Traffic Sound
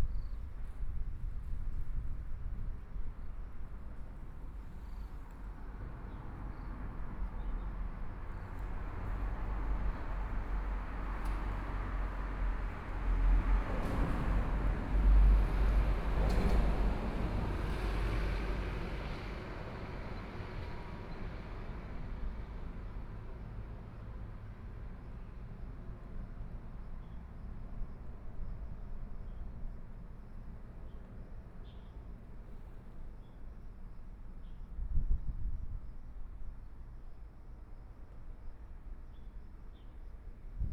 4.4s 25.5s

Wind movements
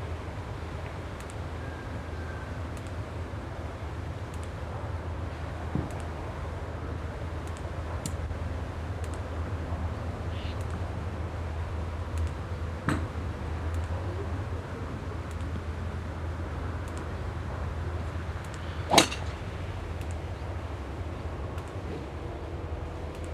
14.5s 23.3s

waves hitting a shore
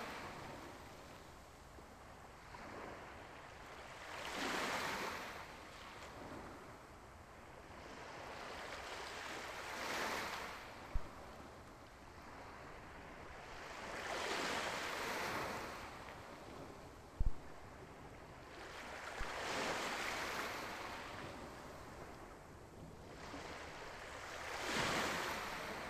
23.2s 25.8s

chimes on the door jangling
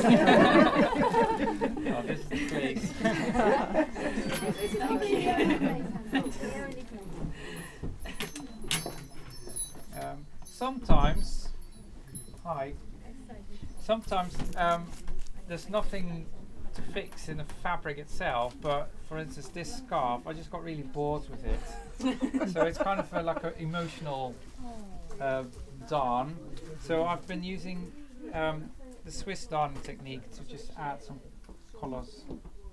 4.2s 13.0s, 13.6s 14.9s

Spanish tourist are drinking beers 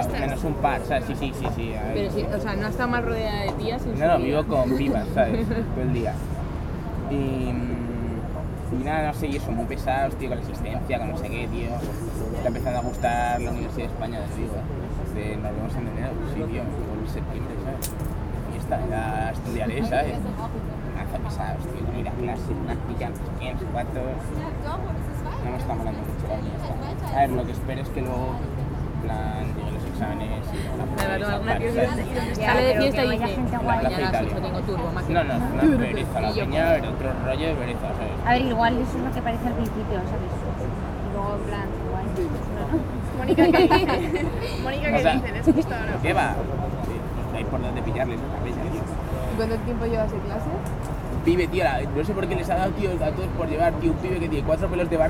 0.0s 10.6s, 24.2s 55.0s

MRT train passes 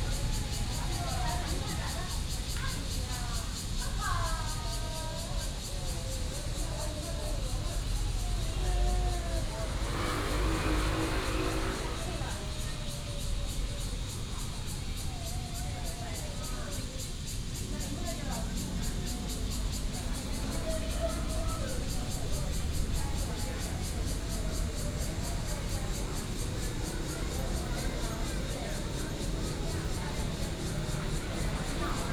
8.4s 15.3s, 17.2s 32.1s

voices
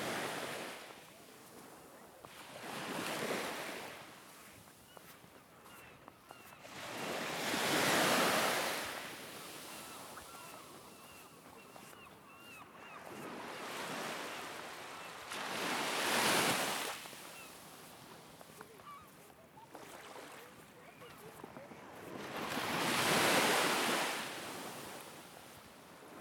18.6s 22.0s

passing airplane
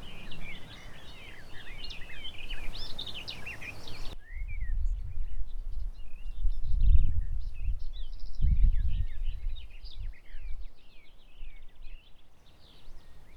0.0s 3.0s

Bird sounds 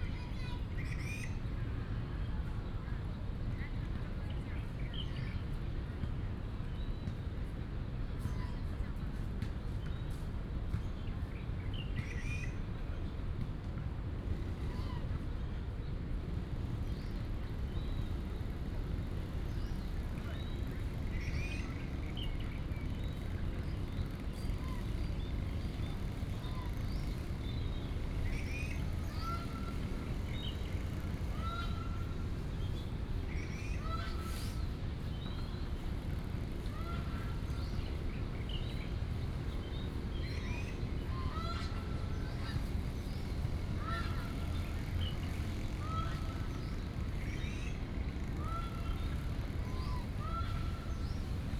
16.7s 51.5s

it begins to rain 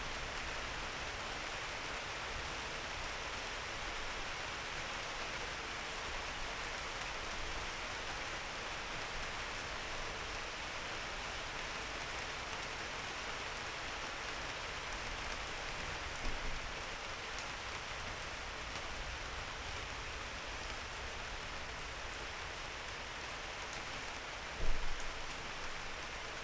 18.4s 26.4s

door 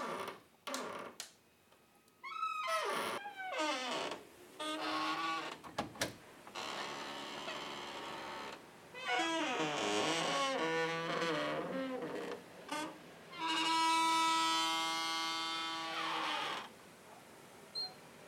5.6s 6.2s

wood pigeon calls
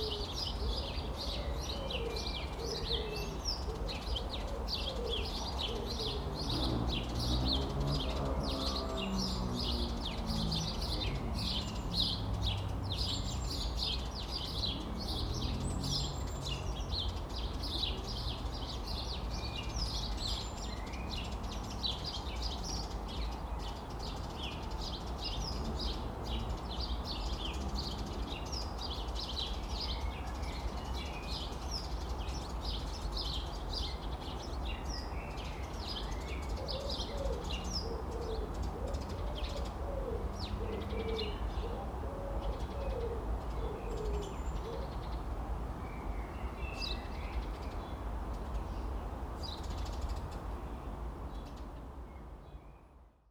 36.1s 45.2s

